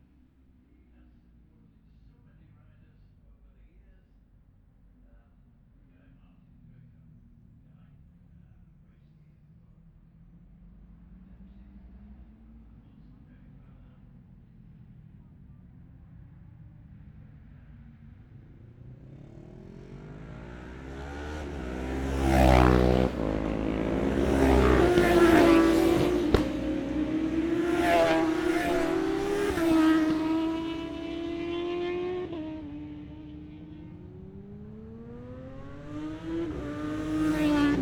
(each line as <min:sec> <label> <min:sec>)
0:10.0 road racing 0:37.8